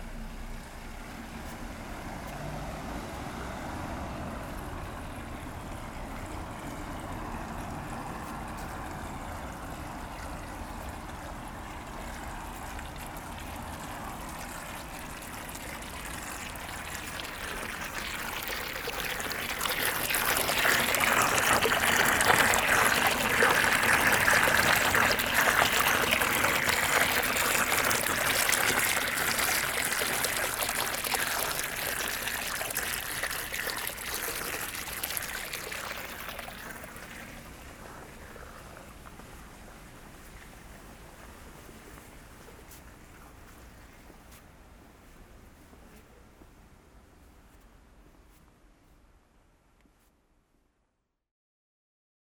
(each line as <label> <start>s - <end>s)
Water is flowing everywhere from drains 0.0s - 46.1s
Street cleaning 14.2s - 34.1s